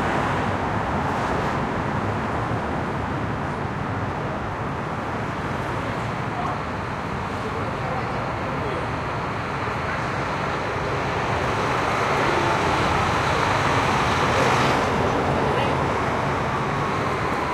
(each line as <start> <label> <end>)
0.0 Bus 17.5
0.0 Traffic 17.5
0.0 trucks 17.5